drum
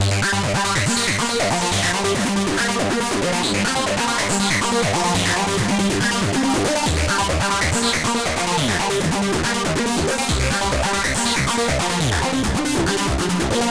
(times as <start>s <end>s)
0.8s 9.4s